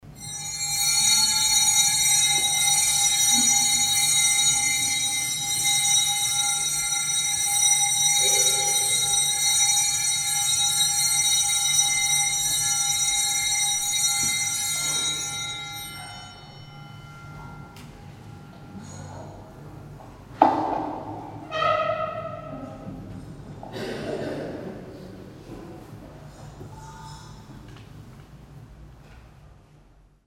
0.0s procession bells 21.1s

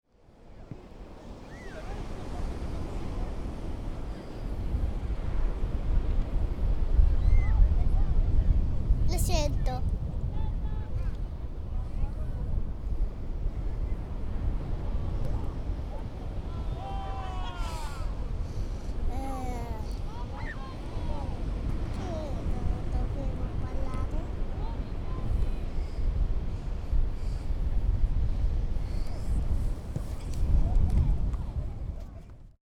0.1s ocean 32.5s

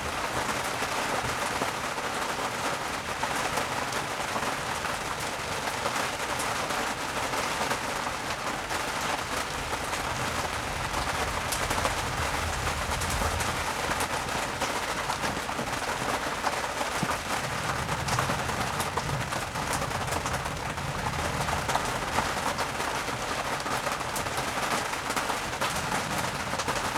0.0s heavy rain hits the tarp 26.9s
8.5s thunderstorm 26.9s

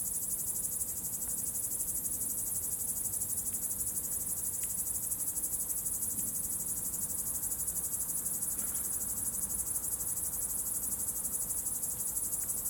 0.0s Cricket 12.6s

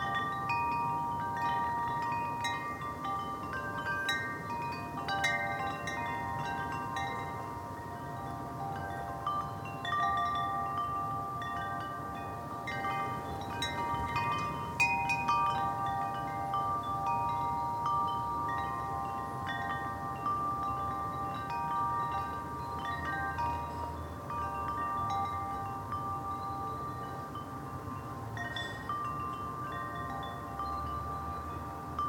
0.0s birds in the trees 32.0s
0.0s windchimes 32.0s

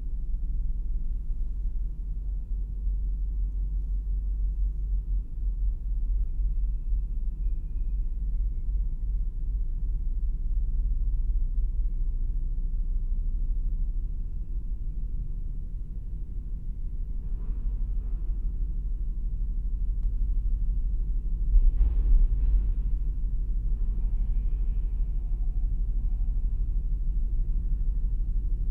0.0s Boarding the Kennecraig to Port Ellen ferry 28.7s

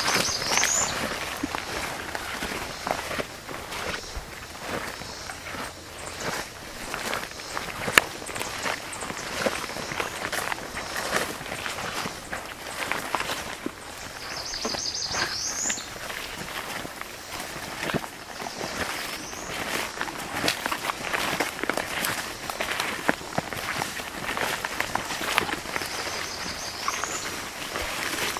0.0s Cope's gray tree frog 28.3s
0.0s field sparrow 28.3s
0.0s stream 28.3s

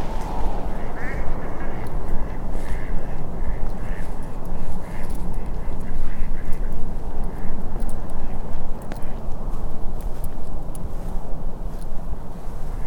0.9s Chatty Ducks 7.6s

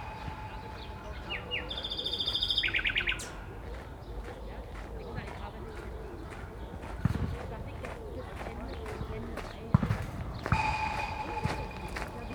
0.0s footballs striking the fence 1.7s
0.0s Nightingales 6.7s
6.9s footballs striking the fence 12.3s

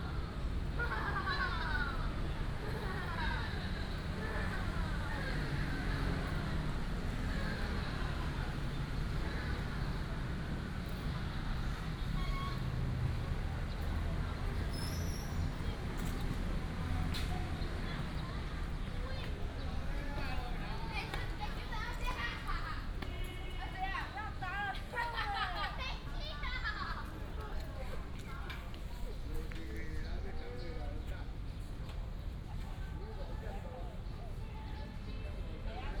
0.0s Walking in the Park 35.0s
0.0s Traffic sound 35.9s

